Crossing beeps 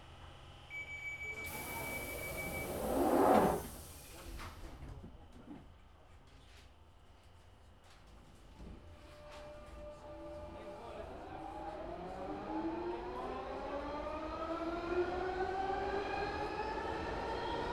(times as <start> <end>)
1.5 2.9